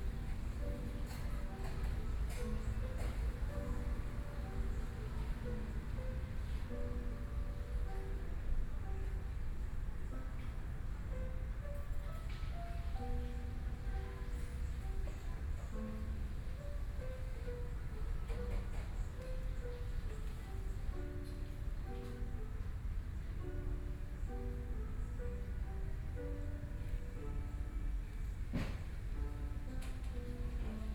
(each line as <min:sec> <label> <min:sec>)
0:00.0 Piano sound 0:30.9